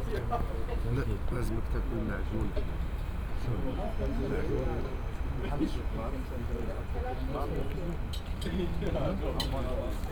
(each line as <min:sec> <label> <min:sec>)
0:05.2 campfire 0:10.1